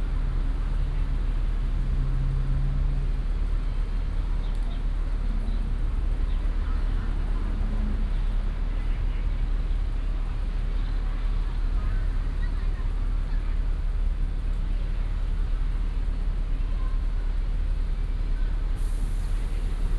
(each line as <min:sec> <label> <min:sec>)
0:06.4 Traffic sound 0:19.9